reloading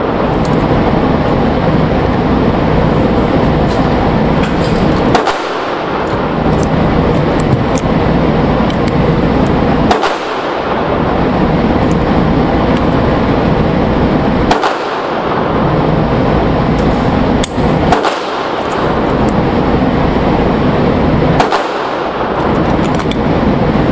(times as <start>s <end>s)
3.2s 7.9s, 8.6s 10.8s, 21.4s 23.2s